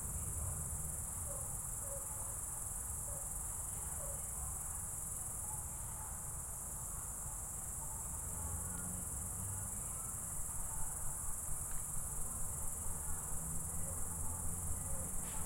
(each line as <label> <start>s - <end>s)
crickets 0.0s - 15.4s